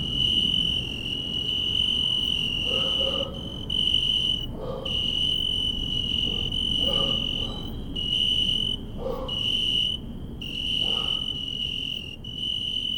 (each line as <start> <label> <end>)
0.0 night chorus of oecanthus pellucens 12.9